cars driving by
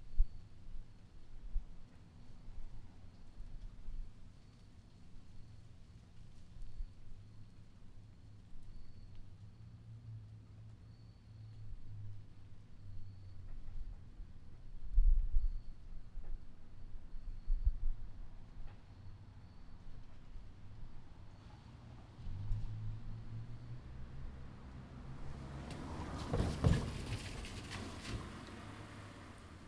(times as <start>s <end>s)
22.3s 29.6s